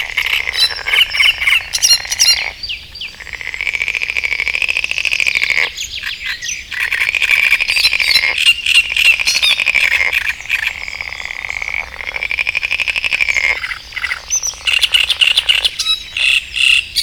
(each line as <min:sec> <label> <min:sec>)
0:00.0 frog chorus 0:17.0
0:00.0 great reed warbler singing 0:17.0